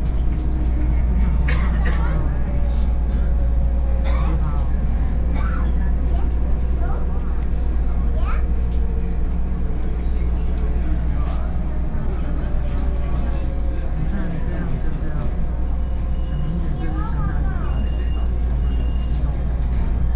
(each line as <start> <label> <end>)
0.0 train 20.1